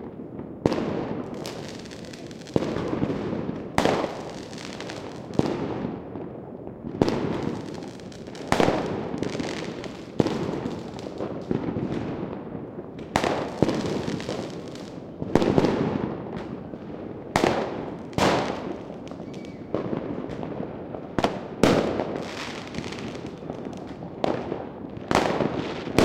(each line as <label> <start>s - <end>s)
fireworks 0.0s - 26.0s